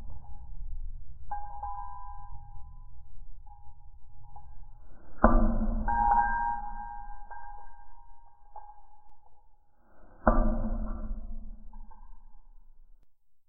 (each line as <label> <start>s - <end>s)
ticking on an iron rail 3.5s - 12.8s